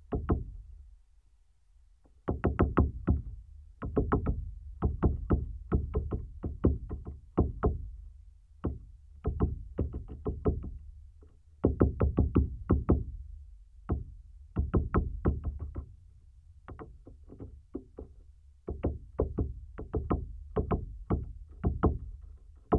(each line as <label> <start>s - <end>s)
woodpecker work session 0.0s - 0.8s
woodpecker work session 2.0s - 13.2s
woodpecker work session 13.8s - 22.7s